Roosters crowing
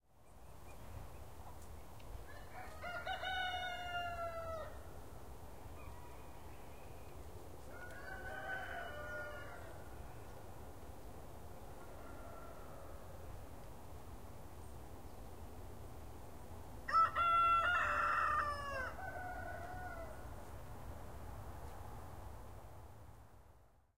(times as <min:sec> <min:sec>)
0:02.2 0:04.9, 0:07.6 0:10.1, 0:11.7 0:13.2, 0:16.9 0:20.4